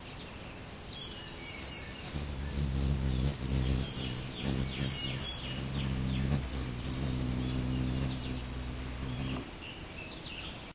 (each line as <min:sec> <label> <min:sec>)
0:01.6 hummingbird at the feeder 0:10.4